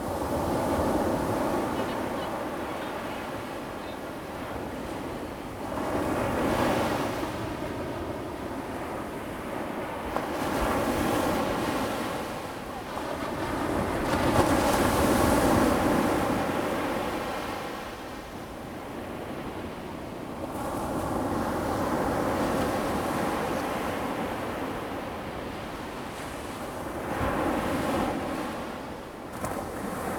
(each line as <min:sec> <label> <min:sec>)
0:00.0 waves 0:30.1